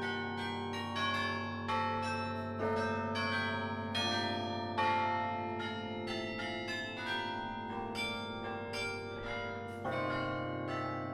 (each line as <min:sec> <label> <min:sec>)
0:00.0 bells of the Belfry 0:11.1